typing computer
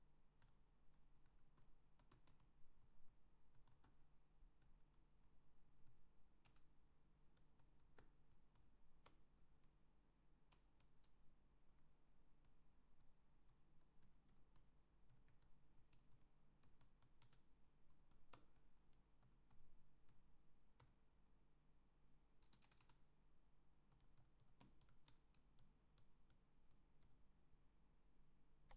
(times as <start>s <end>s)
0.4s 4.0s, 4.6s 6.7s, 12.4s 20.2s, 22.4s 23.1s